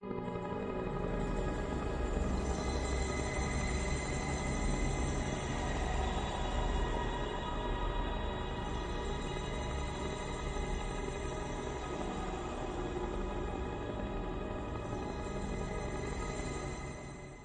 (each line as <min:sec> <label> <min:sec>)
0:00.1 drone 0:17.2